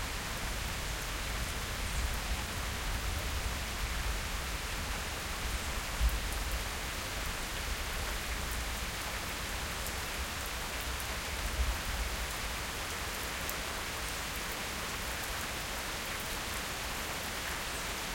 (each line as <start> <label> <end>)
0.0 moderately heavy rain 18.1